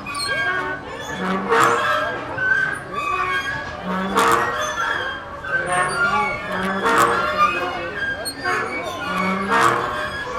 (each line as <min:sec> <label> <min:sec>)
0:00.0 Swings squeaking 0:10.3